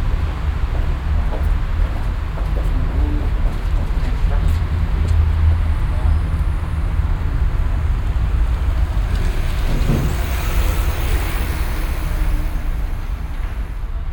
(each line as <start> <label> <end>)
8.6 Schritte 14.1